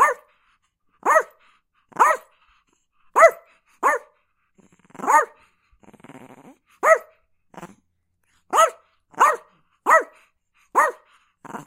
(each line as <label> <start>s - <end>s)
Chihuahua Barking 0.0s - 0.3s
Chihuahua Barking 1.0s - 1.4s
Chihuahua Barking 2.0s - 2.3s
Chihuahua Barking 3.2s - 4.1s
Chihuahua Barking 5.0s - 5.4s
Chihuahua Barking 6.8s - 7.2s
Chihuahua Barking 8.5s - 11.6s